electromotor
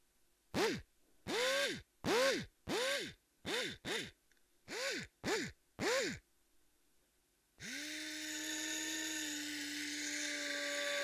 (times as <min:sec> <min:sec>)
0:00.6 0:04.1, 0:04.7 0:06.2, 0:07.6 0:11.0